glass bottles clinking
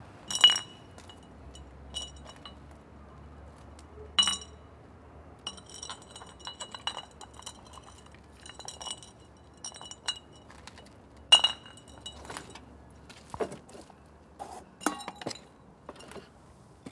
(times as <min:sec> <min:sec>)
0:00.3 0:01.2, 0:04.2 0:04.5, 0:05.5 0:10.3, 0:11.4 0:12.3